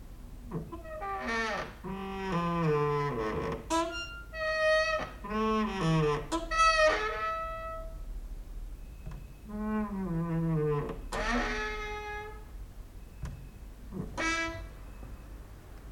creaking with wooden doors 0:00.5 - 0:08.1
creaking with wooden doors 0:08.8 - 0:15.3

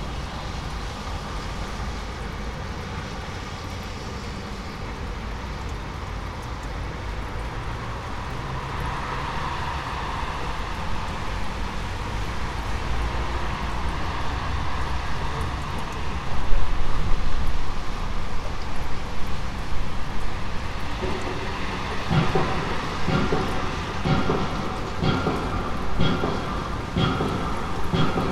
huge machine that seems to act like a tremendous hammer is banging 0:20.1 - 0:28.3

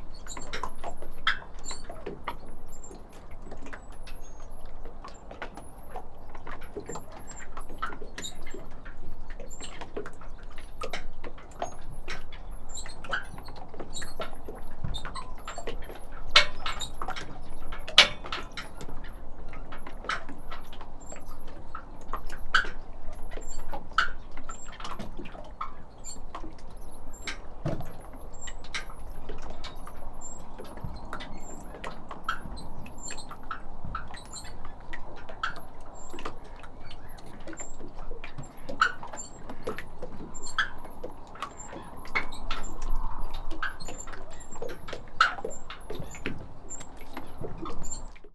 Small boats gently rocking, tied up 0:00.0 - 0:48.3

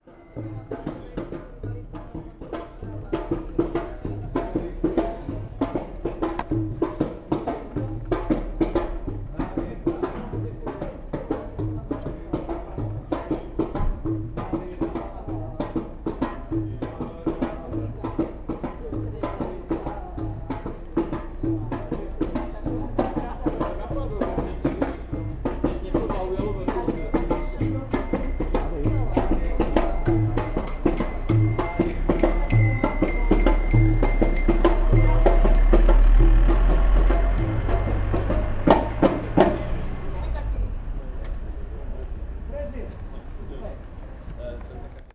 bell 0:00.0 - 0:05.5
drum 0:00.2 - 0:40.9
bell 0:23.8 - 0:42.1

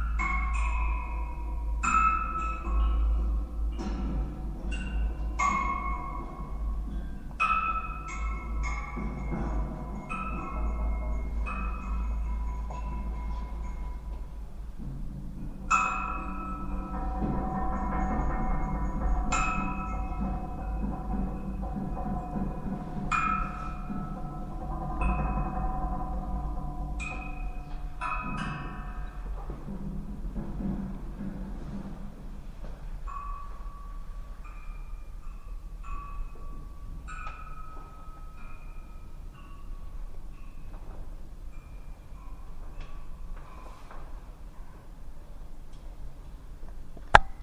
musical coat rack 0:00.0 - 0:45.0

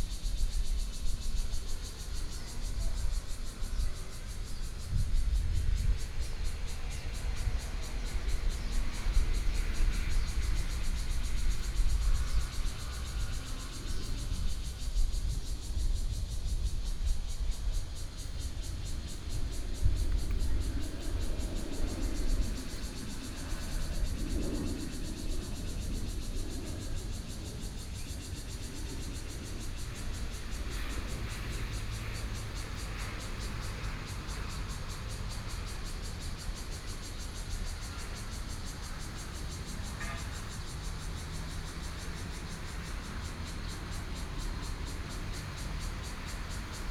Cicadas sound 0:00.0 - 0:46.9
Traffic Sound 0:17.8 - 0:46.9

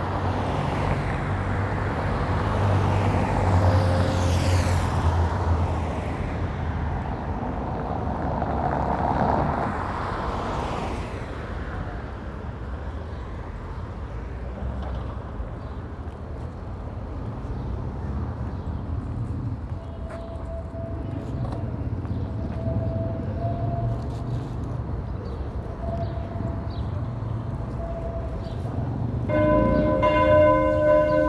traffic 0:00.0 - 0:31.2
trams 0:13.8 - 0:31.2
Church bells 0:29.2 - 0:31.2

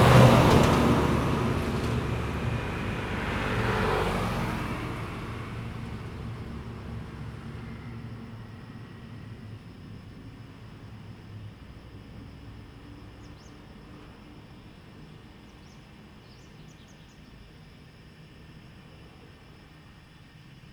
Traffic Sound 0:00.0 - 0:10.3
Cicadas sound 0:00.0 - 0:20.7

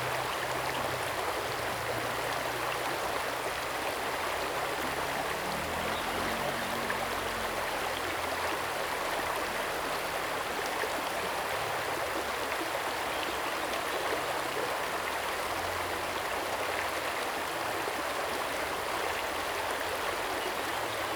water streams 0:00.0 - 0:21.1

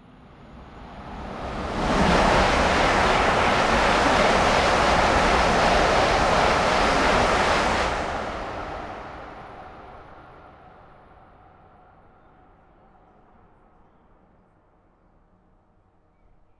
high speed train passing-by 0:00.0 - 0:12.0

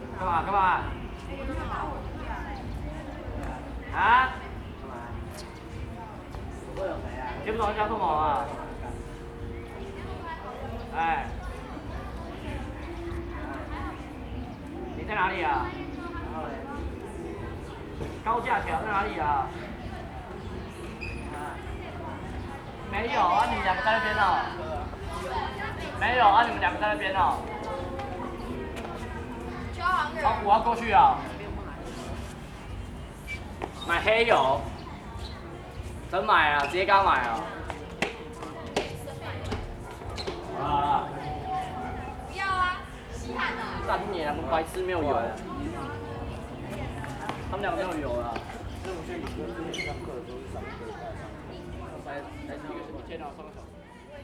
group of students gathered noisy conversation 0:00.0 - 0:54.2

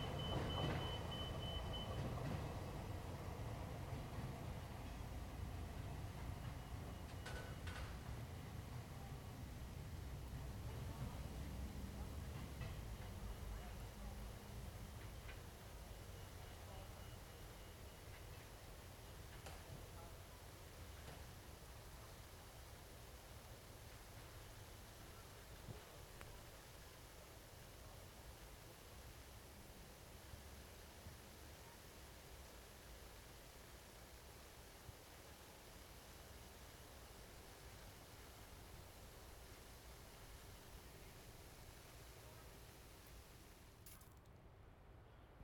Freight Train Rolling Past 0:00.0 - 0:29.1
sprinklers that spray the tracks 0:00.0 - 0:44.2

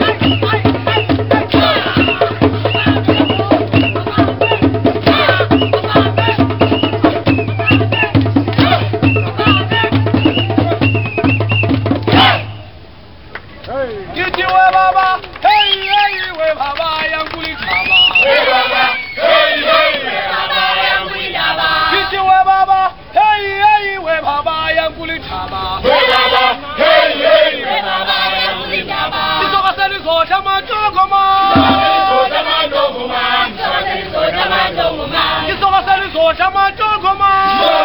Street performers 0:00.0 - 0:37.8

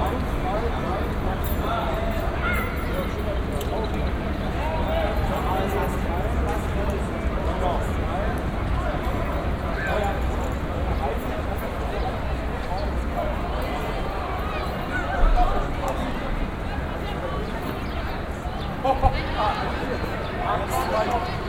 train 0:00.0 - 0:15.0
pedestrians 0:00.0 - 0:21.4

